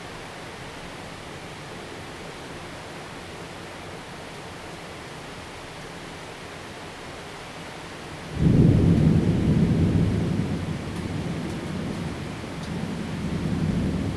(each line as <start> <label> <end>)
0.0 rain 14.1
8.3 Thunderstorm 14.1